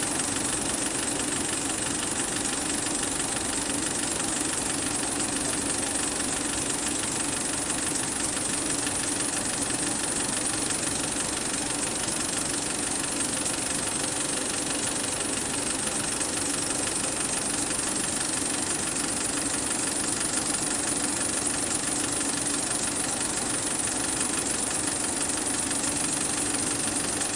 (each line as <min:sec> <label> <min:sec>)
0:00.0 film projector 0:27.3